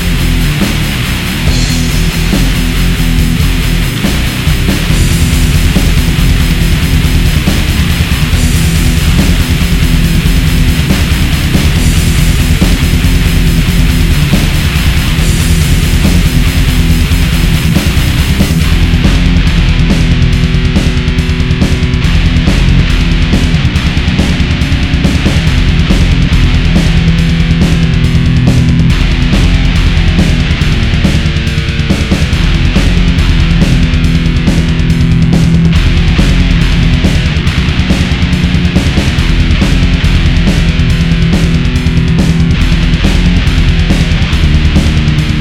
death metal track 0:00.0 - 0:45.4

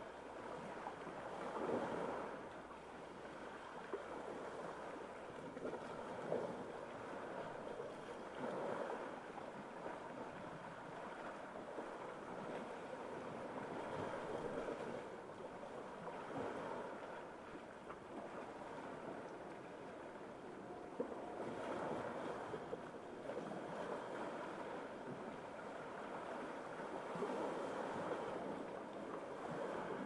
waves 0:00.0 - 0:30.0
wind 0:00.0 - 0:30.0
airplane 0:05.3 - 0:28.8

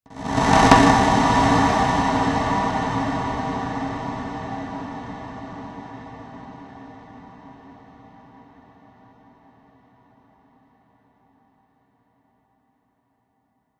distorted and echoed percussion sound 0:00.4 - 0:01.7

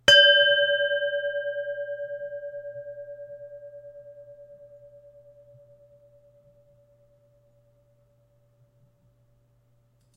Meditation bell, hit with a mallet 0:00.0 - 0:08.1

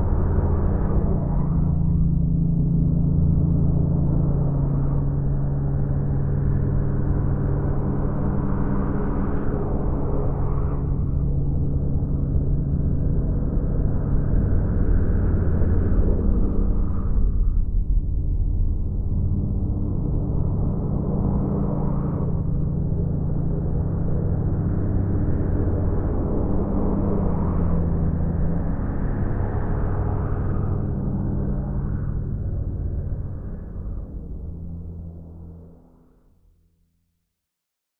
Low hum growing into bass rumble 0:10.8 - 0:36.9

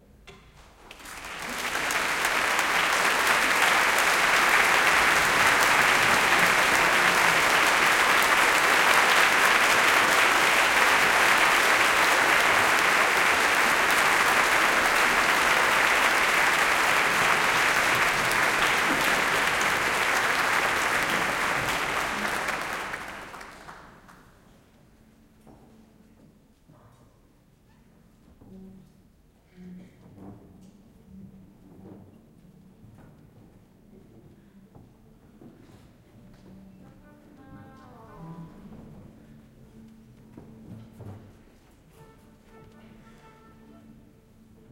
Applause 0:00.9 - 0:24.6

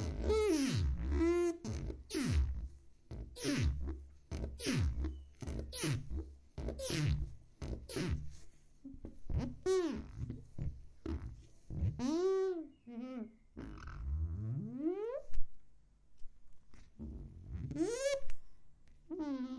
squeaky sponge on glass 0:00.0 - 0:08.4
squeaky sponge on glass 0:09.3 - 0:15.3
squeaky sponge on glass 0:17.6 - 0:18.3
squeaky sponge on glass 0:19.1 - 0:19.5

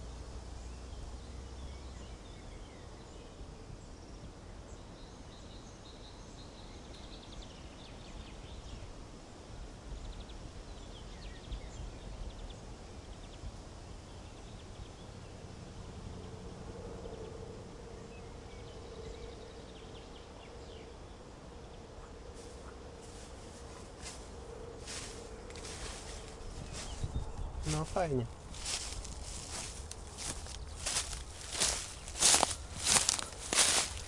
Birds 0:00.0 - 0:34.0
wind 0:00.0 - 0:34.0
leaf walking 0:22.4 - 0:34.0

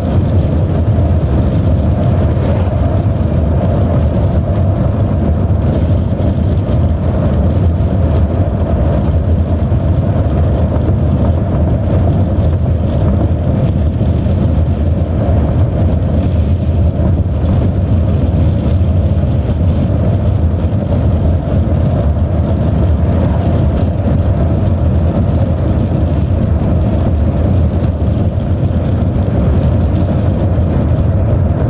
Car 0:00.0 - 0:31.6
wind 0:00.0 - 0:31.6

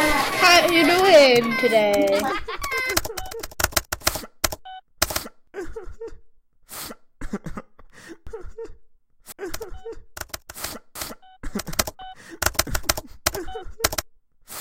clicks 0:00.8 - 0:05.3
clicks 0:09.5 - 0:14.1

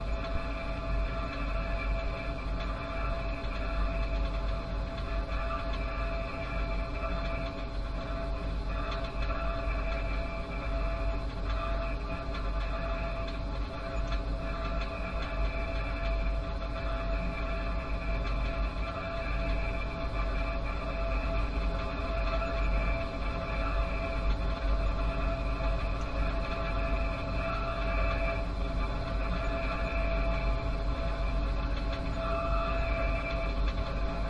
drone 0:00.0 - 0:34.2

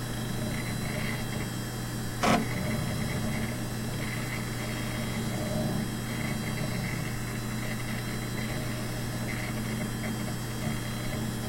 diskette drive 0:00.0 - 0:01.5
fan 0:00.0 - 0:11.4
hard drive noises 0:00.0 - 0:11.4
diskette drive 0:02.1 - 0:11.4

